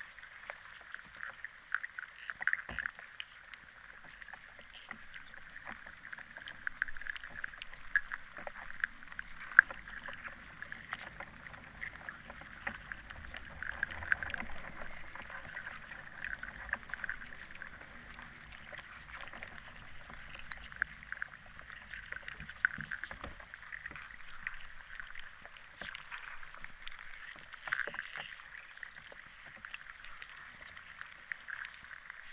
river underwater 0.0 - 32.3

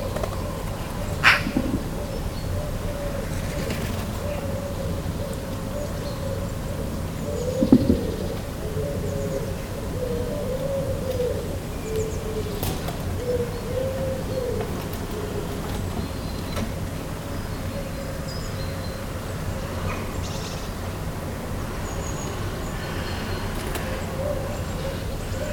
Magpies 0.0 - 16.8

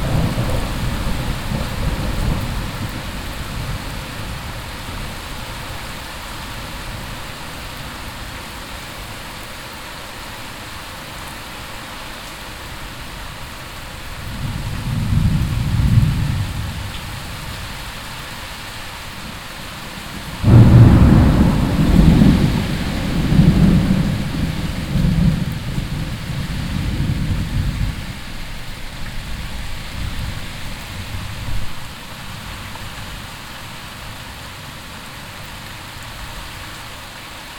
thunder echoing in the valley 0.0 - 3.8
clashing rain 0.0 - 37.5
thunder echoing in the valley 20.4 - 28.0

